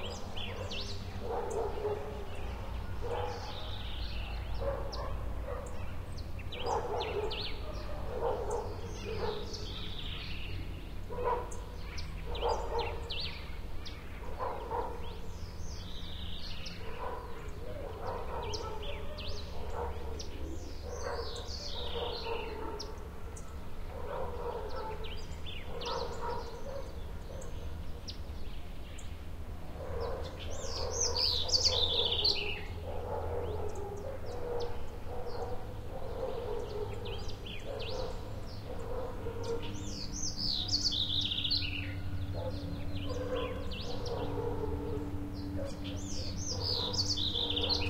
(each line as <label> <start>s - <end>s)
barking dogs 0.0s - 10.3s
birds 0.0s - 47.8s
light traffic 0.0s - 47.8s
barking dogs 11.1s - 13.4s
barking dogs 14.2s - 15.7s
barking dogs 16.6s - 27.7s
barking dogs 29.7s - 47.8s